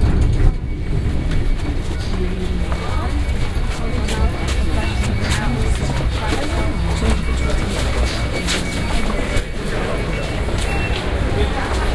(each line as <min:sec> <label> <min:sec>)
0:00.0 Crowded Lift 0:11.9